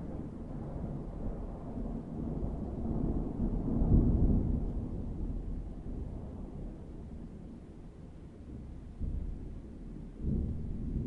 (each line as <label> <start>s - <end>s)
rain 0.0s - 11.0s
wind 0.0s - 11.0s
heavy thunderstorm 0.0s - 11.0s